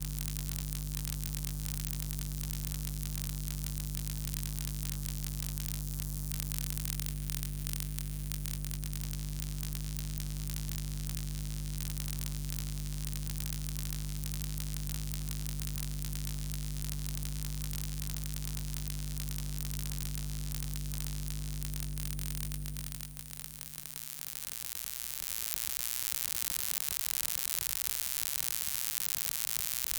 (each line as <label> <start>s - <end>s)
Electromagnetic field recording of a USB Charger 0.0s - 29.9s